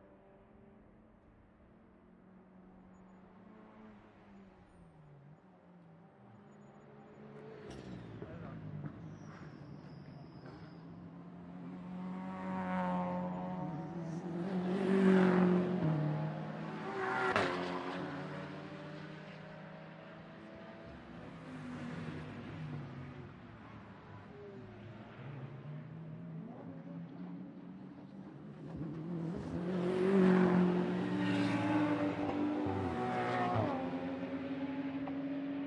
6.2s several cars accelerating 35.6s

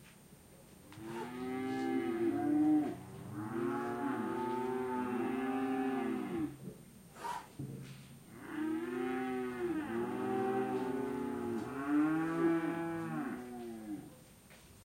0.9s calves mooing in a stable 6.6s
8.3s calves mooing in a stable 14.2s

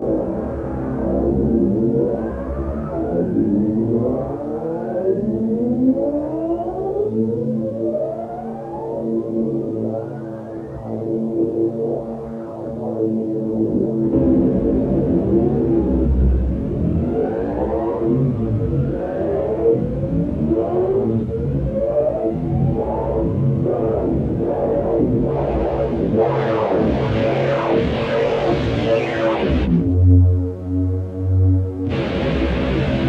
15.6s siren noise 29.9s

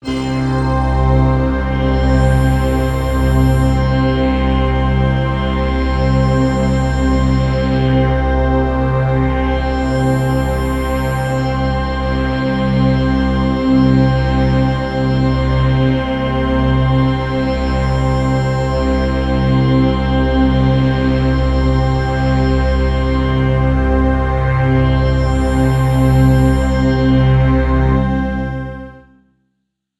0.0s Synth Ambient Pad note 13.6s

